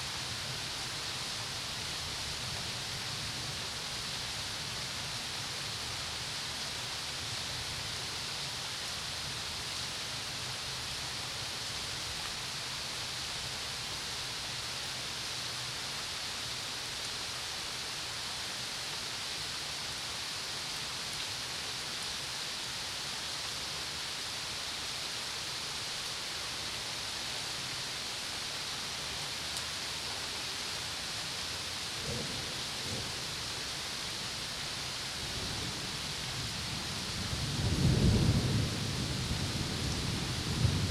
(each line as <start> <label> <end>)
0.0 gentle rain 40.9
23.6 Summer storm 40.9